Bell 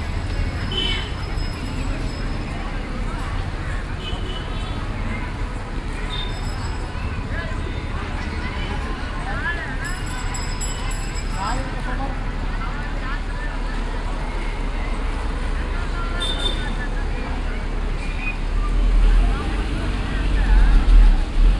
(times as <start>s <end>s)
0.2s 3.1s, 6.1s 7.8s, 9.6s 11.9s